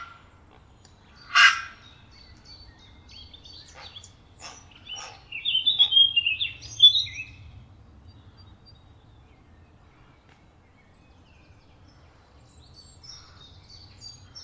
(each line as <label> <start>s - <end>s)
Herons Nesting 1.2s - 1.8s
Herons Nesting 3.6s - 6.0s